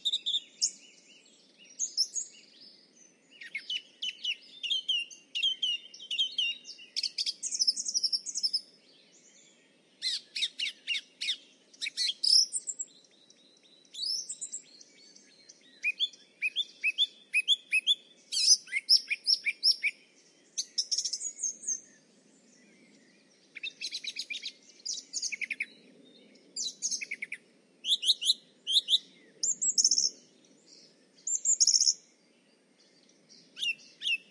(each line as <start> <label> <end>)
0.0 Other birds singing in the background 34.3
0.0 Very close song-thrush singing 34.3